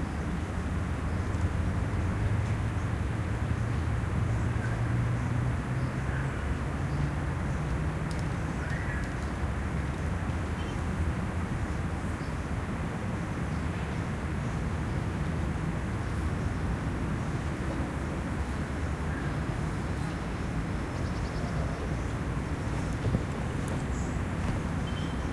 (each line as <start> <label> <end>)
14.9 distant cars' pass-bys 25.3